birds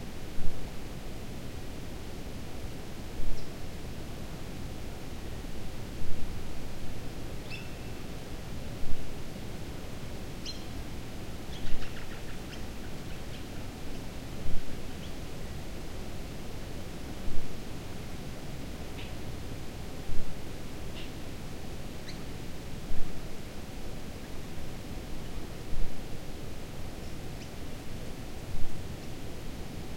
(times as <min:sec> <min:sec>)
0:11.5 0:13.8